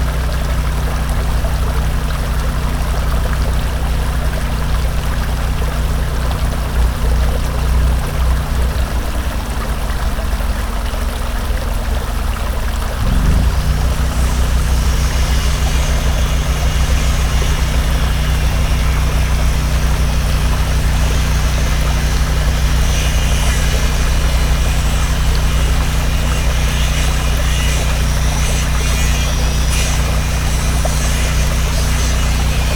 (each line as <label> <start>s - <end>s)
Taylor Yard Bridge Construction 13.0s - 32.7s